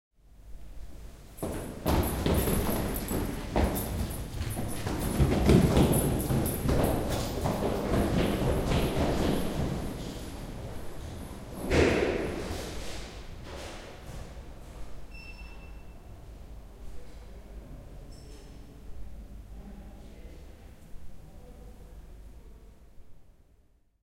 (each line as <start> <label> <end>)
1.4 people running down a staircase 14.4